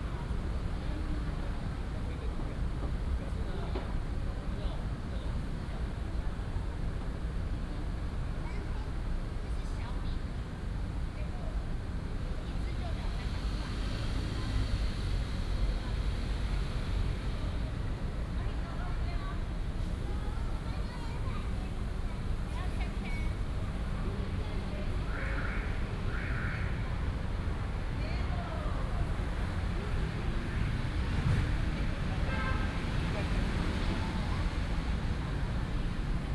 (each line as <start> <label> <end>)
12.5 Traffic noise 36.3